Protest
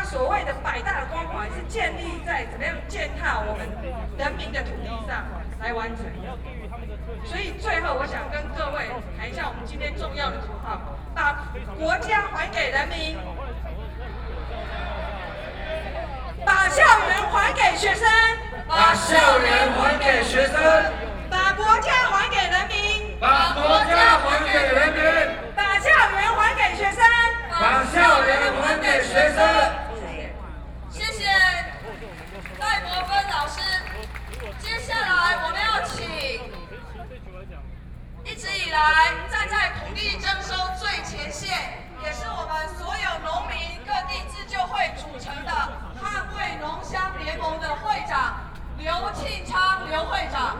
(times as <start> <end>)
0.0 37.2